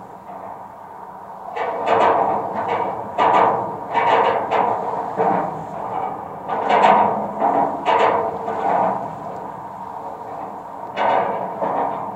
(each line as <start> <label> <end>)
0.0 bridge 12.1